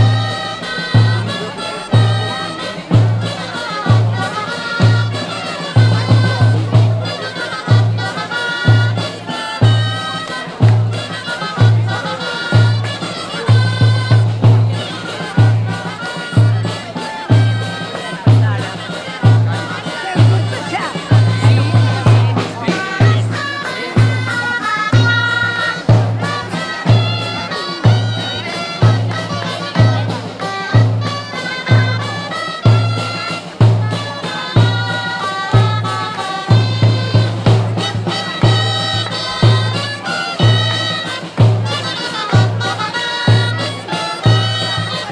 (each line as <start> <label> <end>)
19.6 grallers acompañan a los gigantes 23.2